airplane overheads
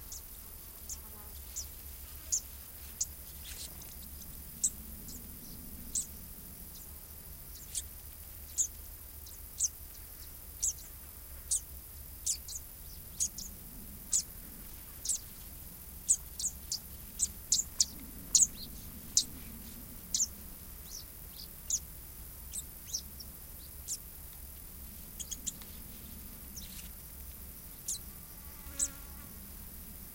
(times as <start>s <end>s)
1.5s 7.5s, 13.0s 30.1s